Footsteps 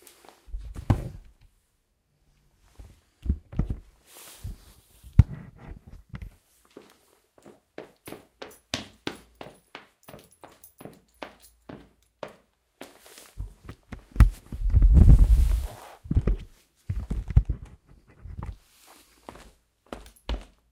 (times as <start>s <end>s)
4.4s 20.6s